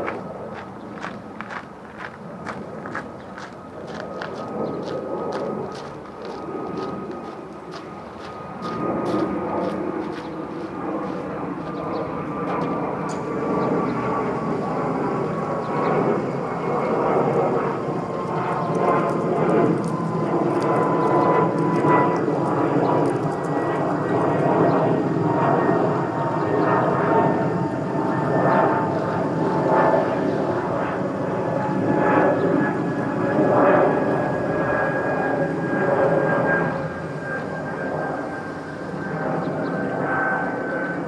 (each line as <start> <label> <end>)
0.1 footsteps 12.8